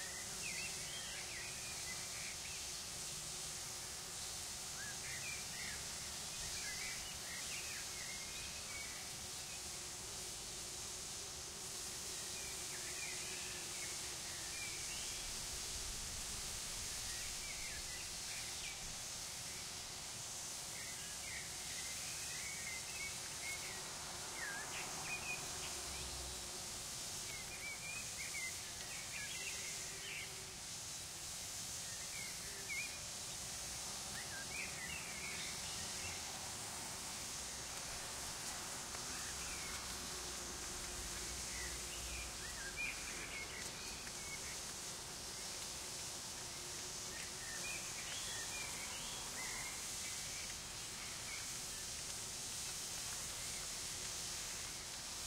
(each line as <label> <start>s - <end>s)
Bees on a huge kiwi plant 0.0s - 55.2s